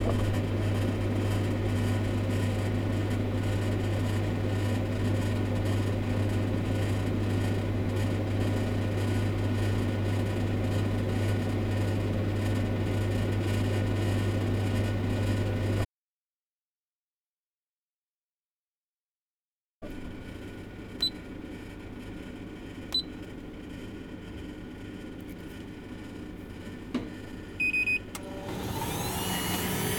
humming sounds of the vending machine 0:00.0 - 0:15.9
humming sounds of the vending machine 0:19.8 - 0:29.9
vending machine dispensing chocolate milk 0:28.0 - 0:29.9

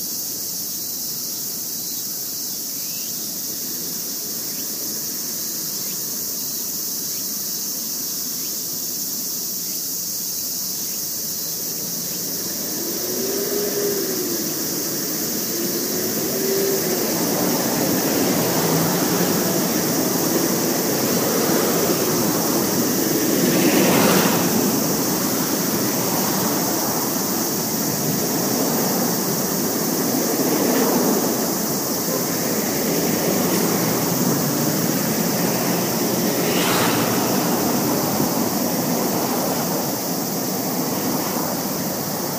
cicadas 0:00.0 - 0:42.3
passing cars and tracks 0:00.0 - 0:42.3
motorcycles 0:11.4 - 0:42.3

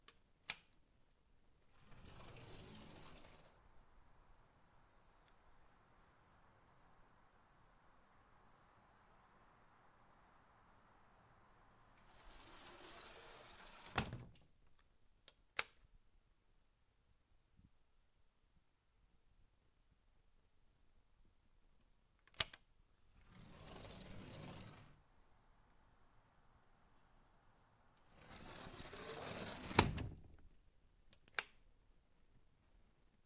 sliding glass door 0:01.7 - 0:03.6
outside ambience 0:02.9 - 0:13.3
sliding glass door 0:11.9 - 0:14.4
sliding glass door 0:23.2 - 0:25.0
sliding glass door 0:28.0 - 0:30.3

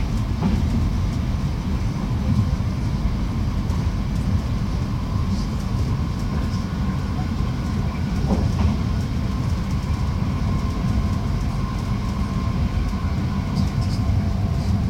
train 0:00.0 - 0:14.8

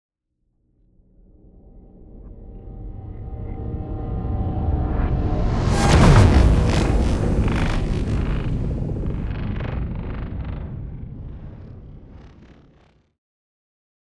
riser 0:03.4 - 0:12.7
hit 0:05.6 - 0:12.2

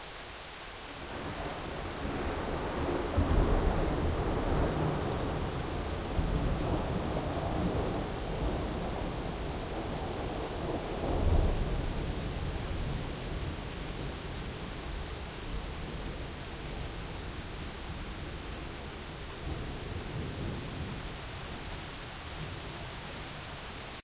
rain 0:00.0 - 0:24.0
thunderclaps 0:01.4 - 0:14.2

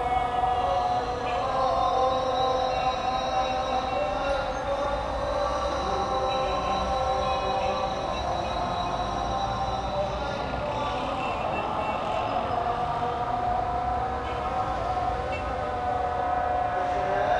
Muezzin calls from mosques all over 0:00.0 - 0:17.3

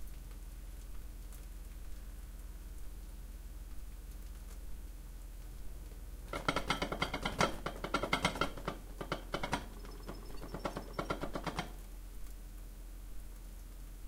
ceramic Japanese rice pot cooking 0:04.8 - 0:12.0
clattering 0:06.3 - 0:11.8

